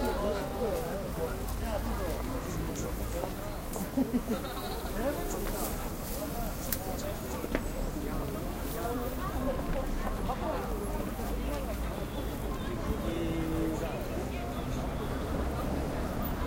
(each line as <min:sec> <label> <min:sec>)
0:00.0 People in a busy street 0:16.4
0:00.0 subway metro 0:16.4